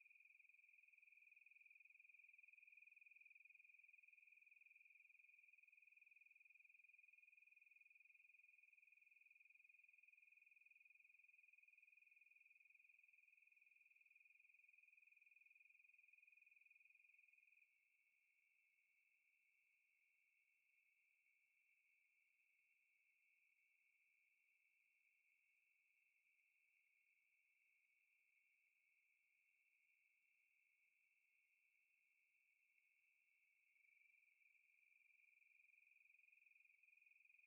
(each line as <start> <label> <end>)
33.6 Day Crickets 37.4